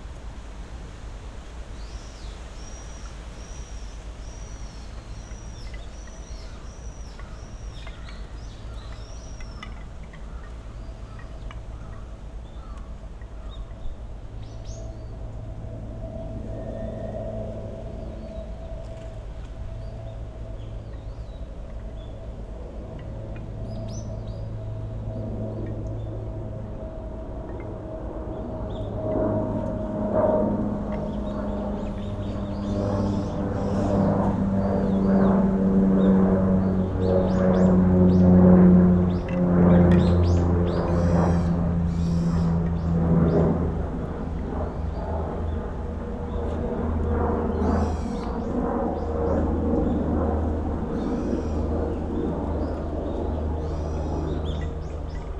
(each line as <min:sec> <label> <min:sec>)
0:00.0 noisy aircraft 0:55.3
0:00.0 wind blowing through high trees 0:55.3
0:01.8 several species of birds 0:15.5
0:30.9 several species of birds 0:35.4
0:44.3 several species of birds 0:55.3